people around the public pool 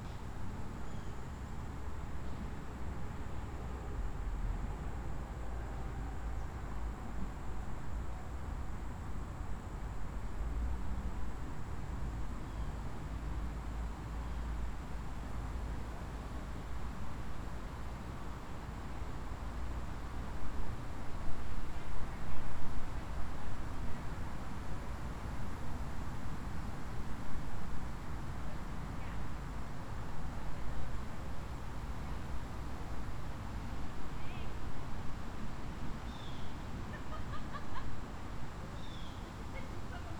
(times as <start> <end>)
36.7 40.1